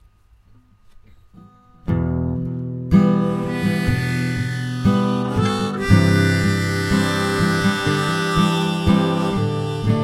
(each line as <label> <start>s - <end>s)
guitar 0.4s - 10.0s
diatonic harmonica 3.0s - 10.0s